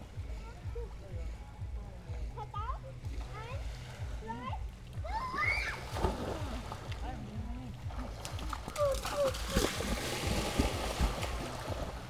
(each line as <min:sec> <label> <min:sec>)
0:00.0 lake 0:12.0
0:04.4 kids 0:06.1